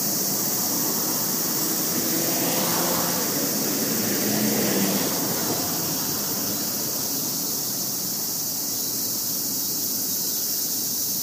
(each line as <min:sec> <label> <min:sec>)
0:00.0 motorcycles 0:08.3
0:00.0 passing cars and tracks 0:11.2
0:00.0 cicadas 0:11.2